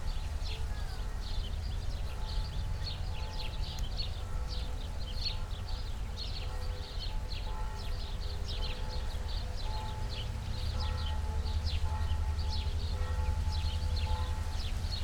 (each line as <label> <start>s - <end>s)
noon churchbells in the distance 0.0s - 15.0s